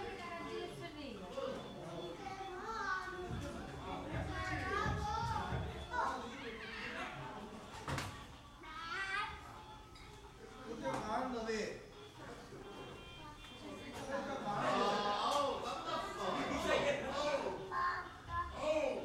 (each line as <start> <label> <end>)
0.0 chatter from the surrounding neighbours 19.0